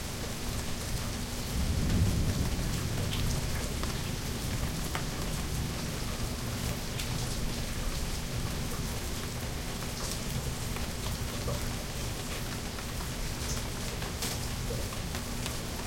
Rain 0.0 - 15.8
thunder 1.4 - 6.3

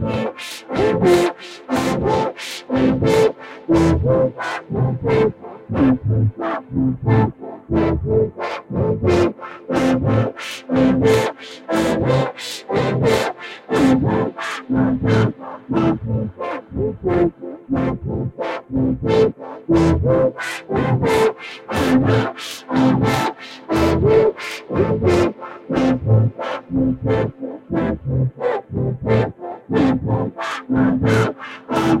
music 0.0 - 32.0

